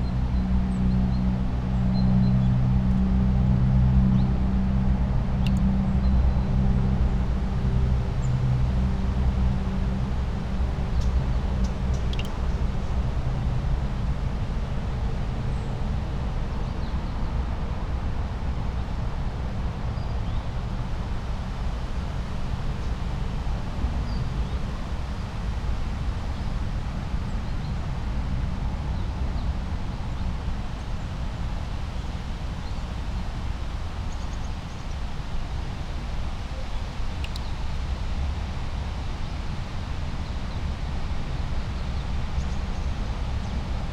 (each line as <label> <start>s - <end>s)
southwesterly winds through tree crowns 0.0s - 21.5s